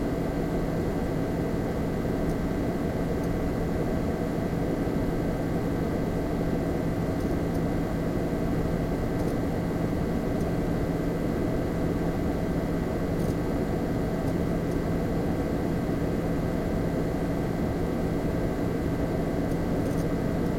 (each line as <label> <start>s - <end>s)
Computer Hum Noise 0.0s - 20.5s